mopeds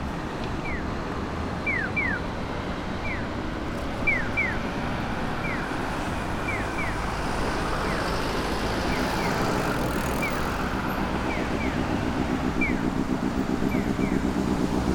6.3 14.9

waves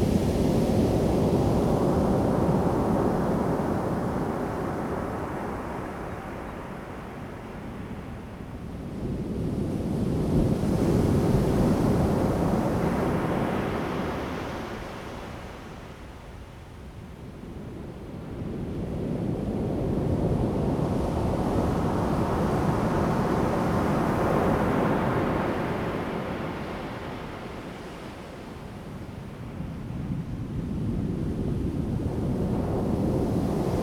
20.4 30.5, 31.9 33.8

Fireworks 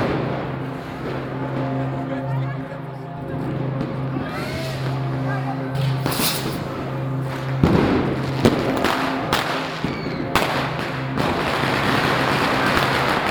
5.8 6.8

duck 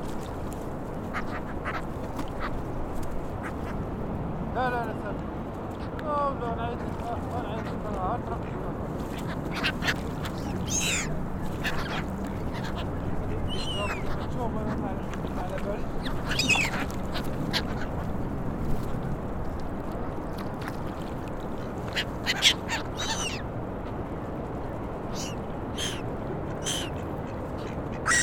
1.1 2.5, 9.2 12.9, 16.2 18.1, 21.9 23.4, 25.1 26.0, 26.6 28.2

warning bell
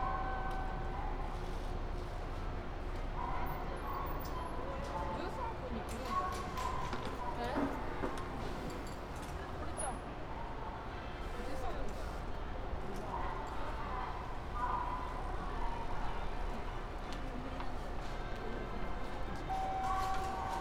19.5 20.6

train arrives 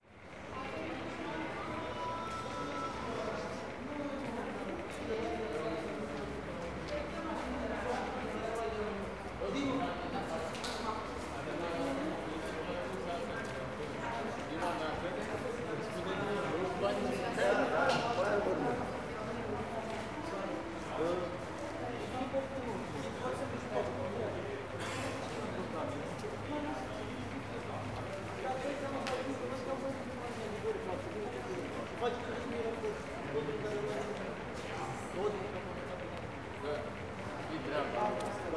0.1 6.7

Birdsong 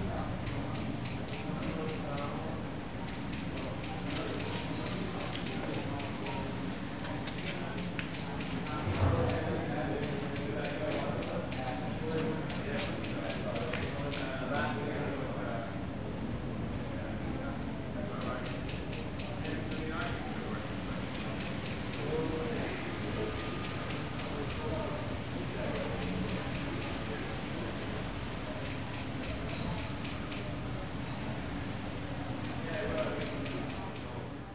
7.3 11.8, 18.2 20.3, 23.4 24.8, 25.8 27.2

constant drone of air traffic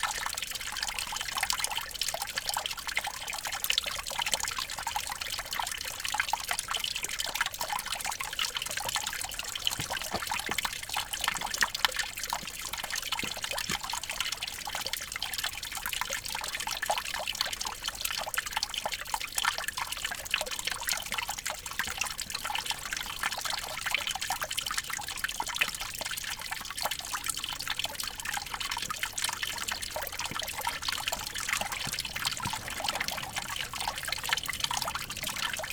29.6 35.7

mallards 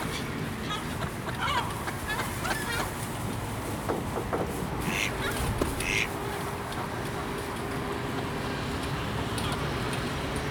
4.9 6.1

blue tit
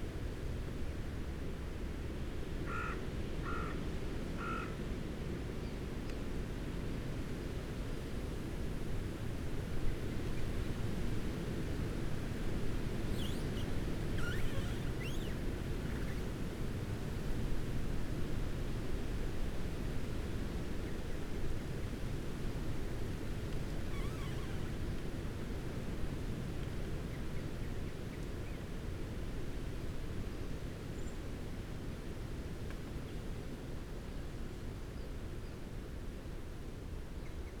13.1 16.2

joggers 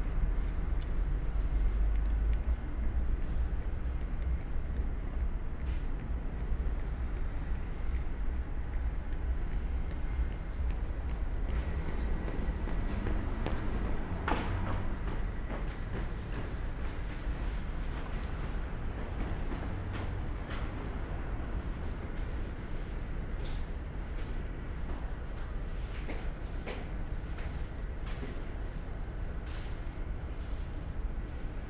8.7 17.3

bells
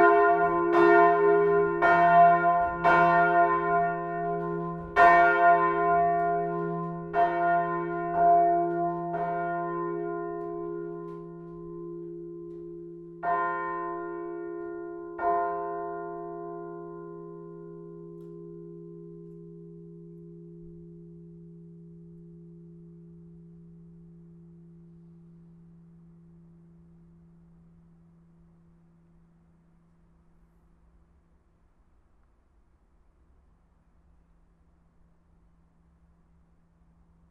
0.0 29.5

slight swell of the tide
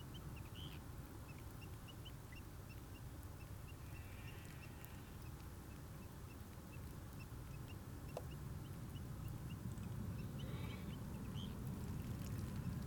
3.7 5.2

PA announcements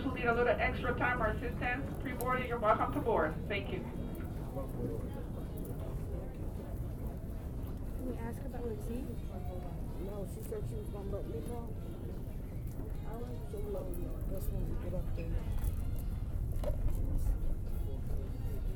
0.0 6.5

